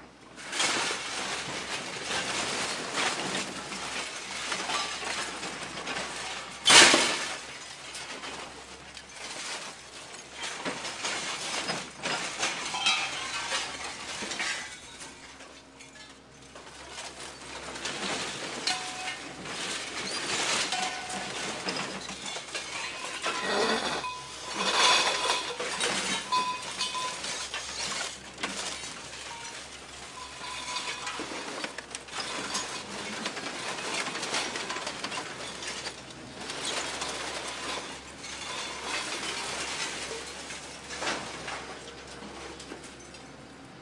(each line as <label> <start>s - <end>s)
backhoe scoop is stirring to load them 0.1s - 43.8s
metal noise when released into the truck 17.0s - 42.6s